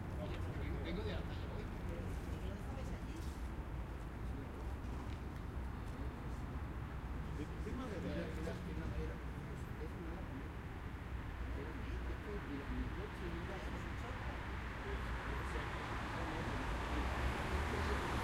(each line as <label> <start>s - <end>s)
cars 0.0s - 18.2s
people chatting 0.1s - 3.3s
people walking 3.1s - 6.1s
people chatting 7.3s - 10.5s
motorbikes 10.6s - 18.2s
people chatting 11.5s - 18.2s